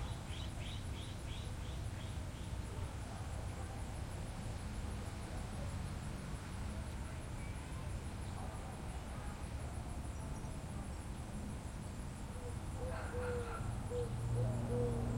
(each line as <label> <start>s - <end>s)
crickets 0.0s - 15.1s
birds 12.3s - 15.1s
owls 12.4s - 15.1s